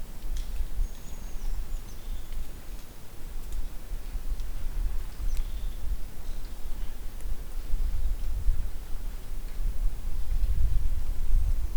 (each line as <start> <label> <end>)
0.0 little bit windy 11.7